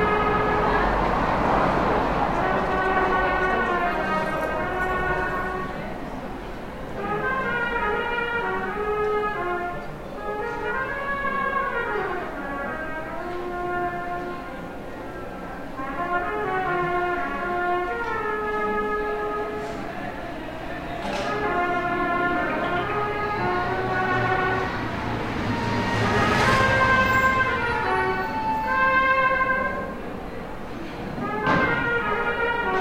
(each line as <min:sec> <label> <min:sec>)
0:00.0 trumpete being played by a musician 0:15.0
0:00.0 people 0:32.8
0:00.0 traffic 0:32.8
0:15.6 trumpete being played by a musician 0:30.3
0:31.0 trumpete being played by a musician 0:32.8